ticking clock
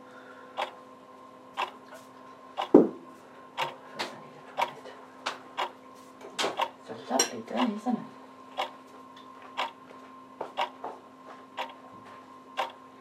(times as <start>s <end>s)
0.6s 0.8s, 1.6s 1.8s, 3.6s 3.8s, 5.6s 5.8s, 6.6s 6.8s, 7.6s 7.8s, 8.6s 8.8s, 9.6s 9.8s, 10.6s 10.8s, 11.6s 11.8s, 12.6s 12.8s